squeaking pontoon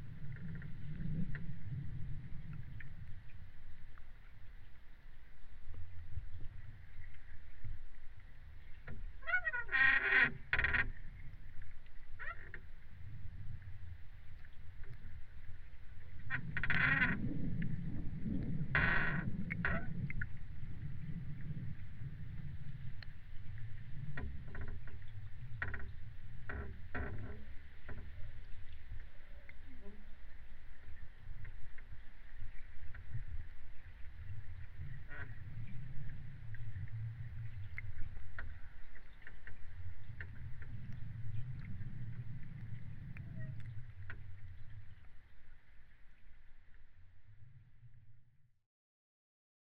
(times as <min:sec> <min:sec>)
0:09.2 0:11.0